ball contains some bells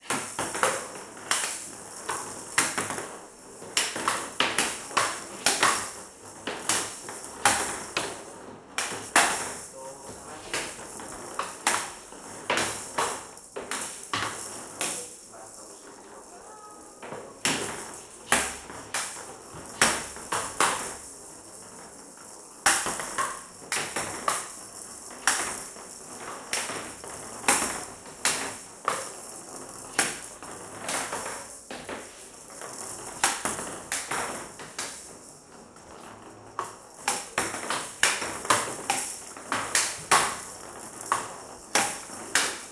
15.9s 42.7s

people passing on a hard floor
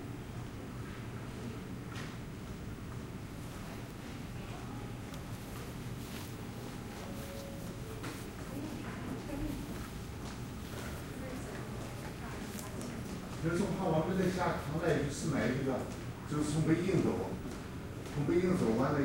1.9s 13.8s

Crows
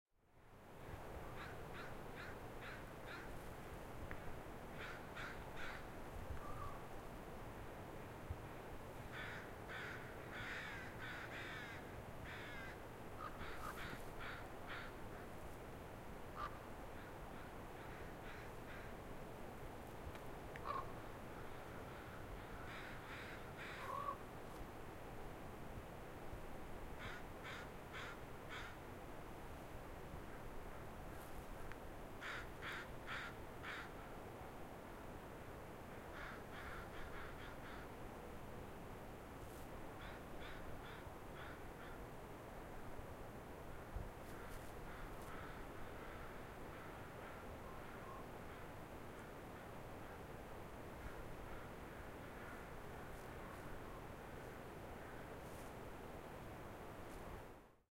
1.3s 3.4s, 4.8s 6.8s, 9.1s 15.3s, 16.4s 19.0s, 20.6s 24.2s, 27.0s 28.8s, 32.2s 34.1s, 36.0s 37.9s, 40.0s 42.0s, 44.2s 48.7s

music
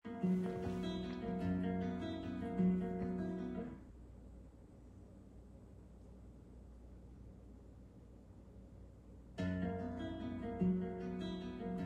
0.0s 3.8s, 9.4s 11.8s

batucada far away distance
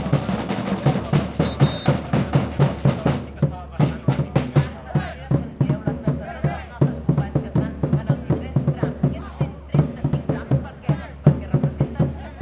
0.0s 3.4s

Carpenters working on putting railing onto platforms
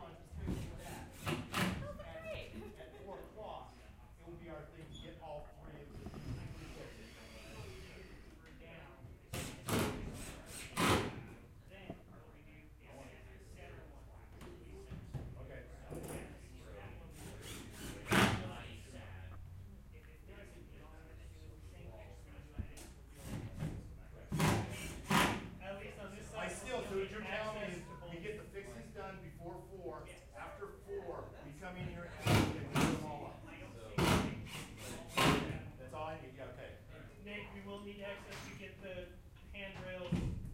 0.3s 1.9s, 9.2s 11.4s, 17.1s 18.6s, 22.8s 25.6s, 32.2s 33.1s, 33.9s 35.6s

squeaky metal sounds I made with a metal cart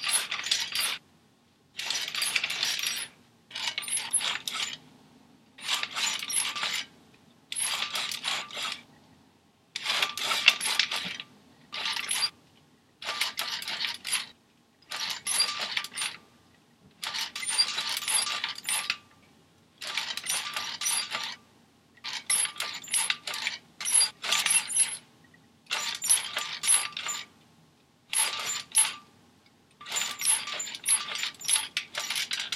0.0s 1.0s, 1.8s 4.8s, 5.6s 6.9s, 7.5s 9.0s, 9.8s 12.4s, 14.9s 16.2s, 17.0s 19.0s, 19.8s 21.4s, 22.1s 25.0s, 25.7s 27.3s, 28.1s 29.1s, 29.8s 32.5s

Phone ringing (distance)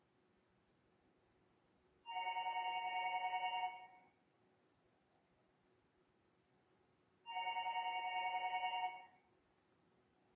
2.1s 4.0s, 7.3s 9.1s

